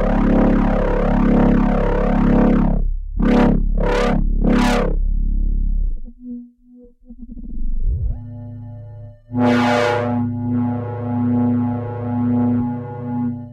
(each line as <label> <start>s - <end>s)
Synthesizer 0.0s - 13.5s